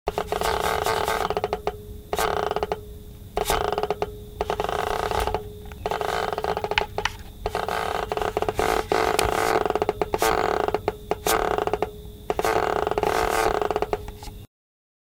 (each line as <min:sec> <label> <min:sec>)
0:00.1 Steam controller creaks 0:02.8
0:03.4 Steam controller creaks 0:14.4